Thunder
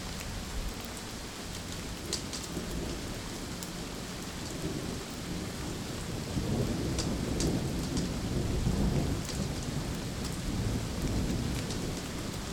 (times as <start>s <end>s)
6.1s 12.5s